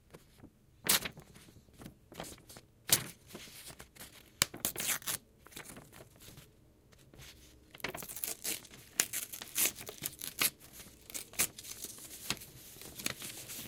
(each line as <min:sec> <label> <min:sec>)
0:00.8 Ripping a page apart 0:06.2
0:07.8 Ripping a page apart 0:13.6